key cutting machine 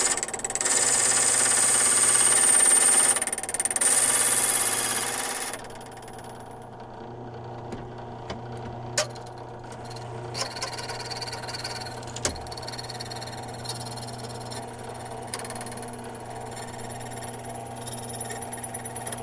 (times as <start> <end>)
0.0 5.8